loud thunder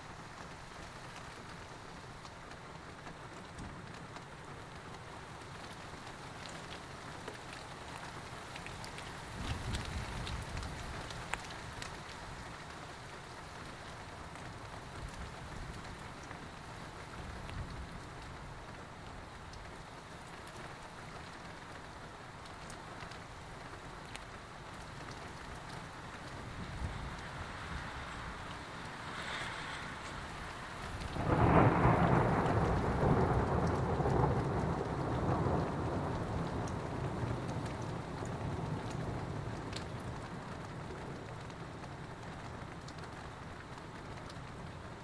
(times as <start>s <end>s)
29.1s 36.6s